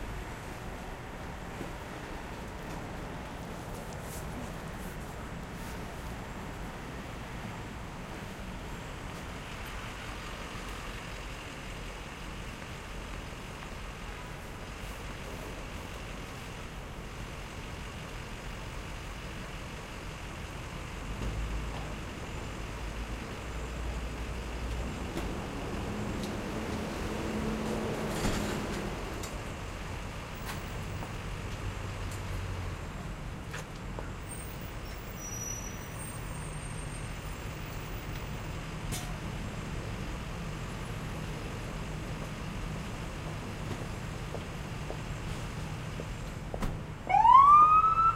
cars 0.0 - 48.1
people walking by 38.0 - 48.0

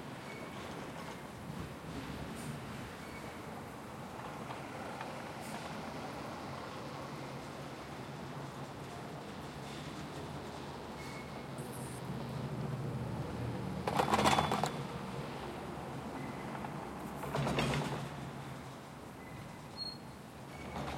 cableway 0.2 - 15.0

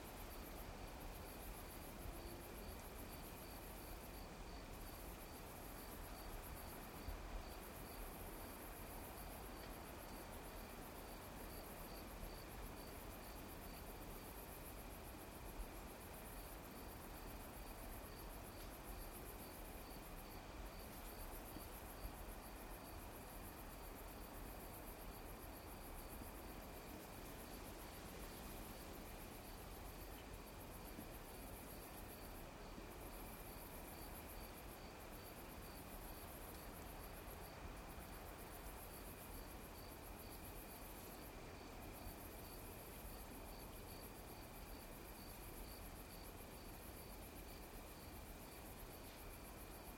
crickets 0.0 - 49.9
insects 0.0 - 49.9

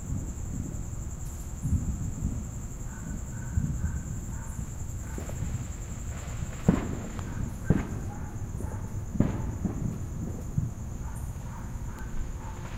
crickets 0.0 - 12.7
fireworks being set off faintly in the background 0.0 - 12.7
dogs bark at the fireworks 1.6 - 12.7

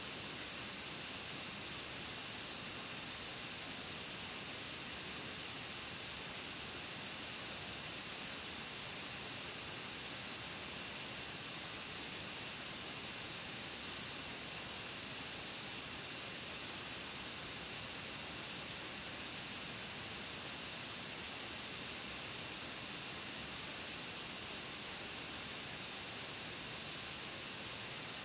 laptop fan 0.0 - 28.2

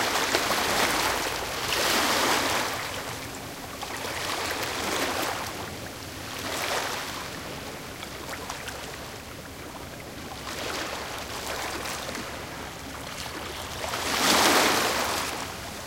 medium ambient waves crushing on the shore 0.0 - 15.8

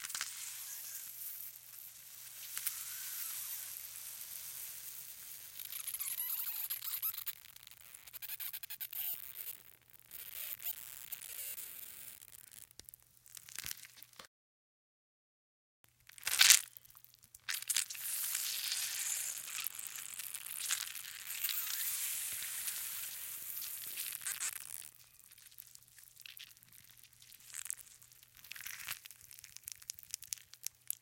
Squishing half a grapefruit 16.2 - 31.0

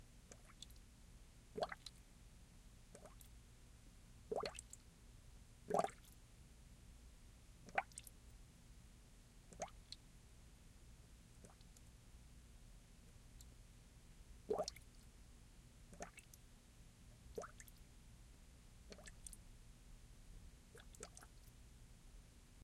Bubbles popping on the surface of water 4.3 - 4.6
Bubbles popping on the surface of water 5.7 - 6.0
Bubbles popping on the surface of water 14.5 - 14.8

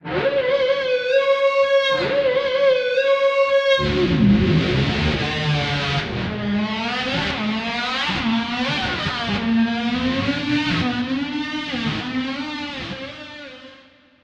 electric guitar imitating the sound of a Harley motorcycle 0.0 - 14.0

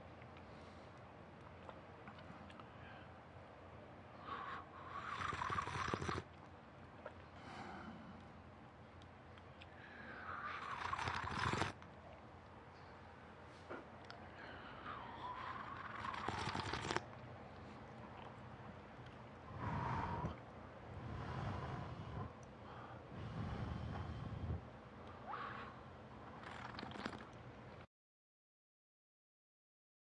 swallow 10.2 - 11.8
Sipping and slurping tea from a mug 10.5 - 11.8
swallow 14.8 - 17.1
Sipping and slurping tea from a mug 15.4 - 17.1
swallow 26.4 - 27.4
Sipping and slurping tea from a mug 26.4 - 27.3

